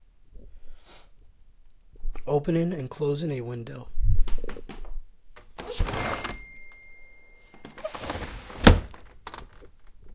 opening and closing a window 0:05.4 - 0:06.6
opening and closing a window 0:07.6 - 0:10.0

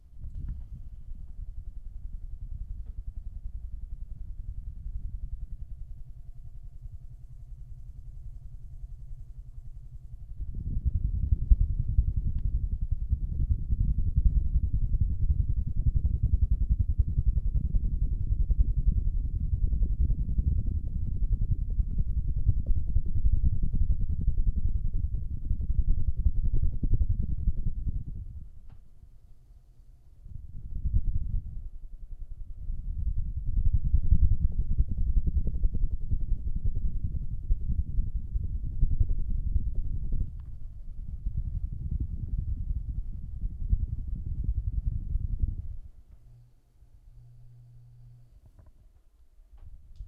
helicopter 0:08.5 - 0:28.2
helicopter 0:32.7 - 0:44.2

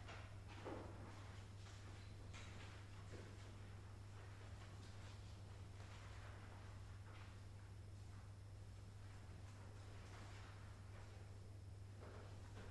students writing an exam 0:00.0 - 0:12.7

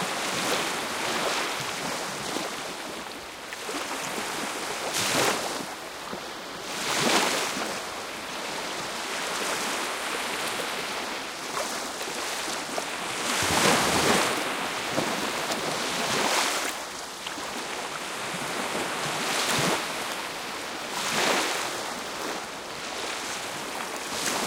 waves 0:00.0 - 0:24.4

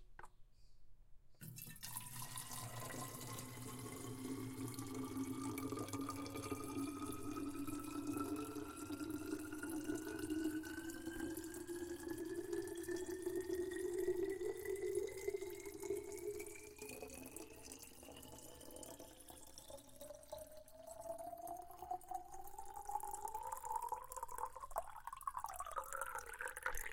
filling my water bottle from the sink 0:01.4 - 0:26.9

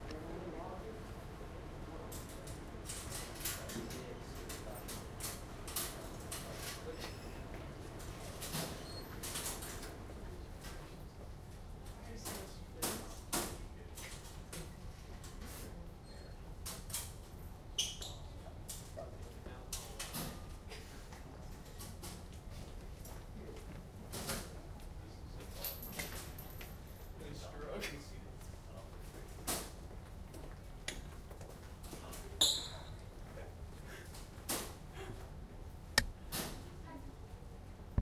conversation 0:00.2 - 0:35.1
sneaker squeaking 0:17.8 - 0:18.4
sneaker squeaking 0:32.4 - 0:32.9

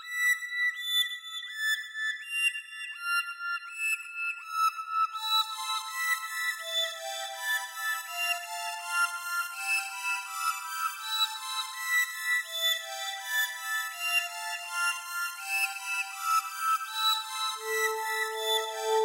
Synthesizer 0:03.6 - 0:19.0

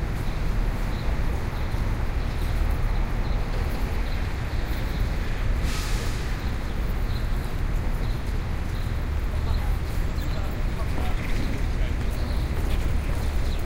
traffic 0:00.0 - 0:13.6

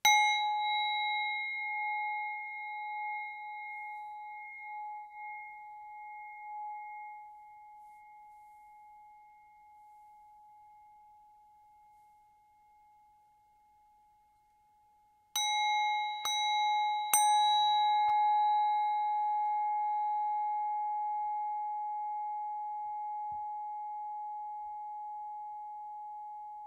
Tibetan Singing Bowls 0:00.0 - 0:11.3
Tibetan Singing Bowls 0:15.4 - 0:26.6

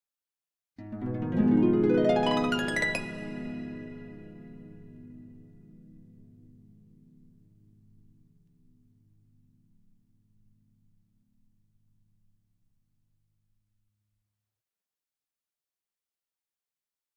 Harp Glissando Up 0:00.9 - 0:04.7

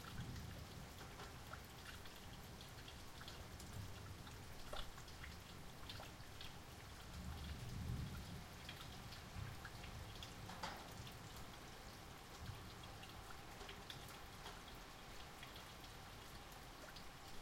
rain building up and dying down 0:00.0 - 0:17.4

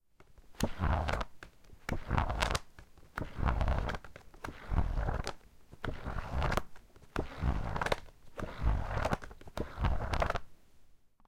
Pages of a book being flipped or rifled through 0:00.2 - 0:10.5

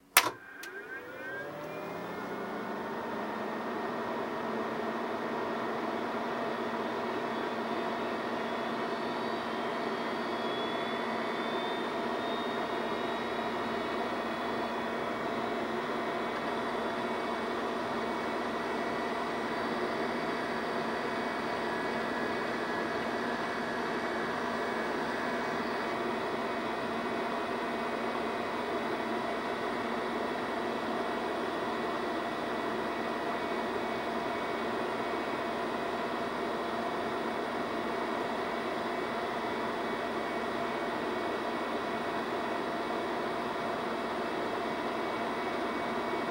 fan 0:00.0 - 0:46.3
Fairlight Computer Musical Instrument powering on, running and then powering off 0:00.2 - 0:29.0
wind down 0:00.2 - 0:05.4

